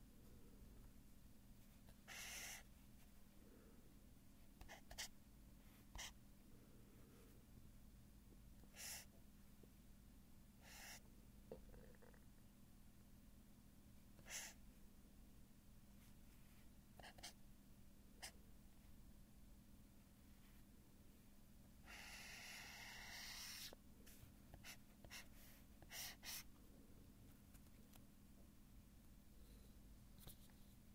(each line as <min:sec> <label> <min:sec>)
0:01.9 Highlighting on paper 0:02.7
0:21.9 Highlighting on paper 0:23.8
0:24.5 Highlighting on paper 0:26.5